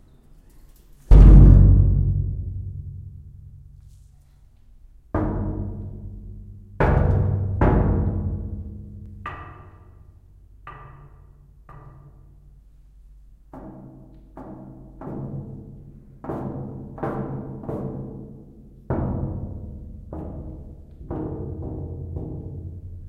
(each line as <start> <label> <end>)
1.0 hitting a metal door 3.8
5.2 hitting a metal door 12.3